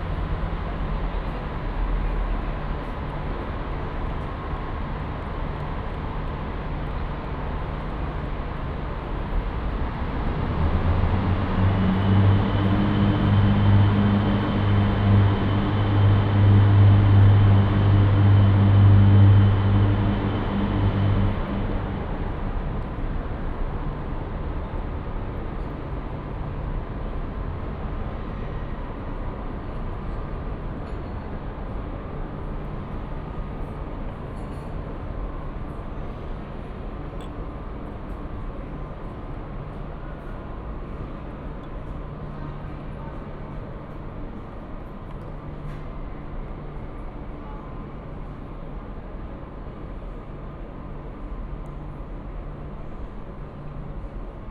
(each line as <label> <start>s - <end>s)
Tren Diesel 9.4s - 23.8s